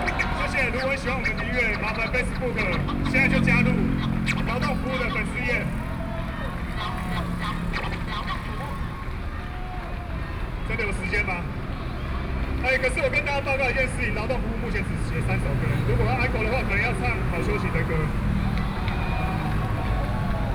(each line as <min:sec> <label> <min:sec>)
0:00.0 traffic noise 0:20.5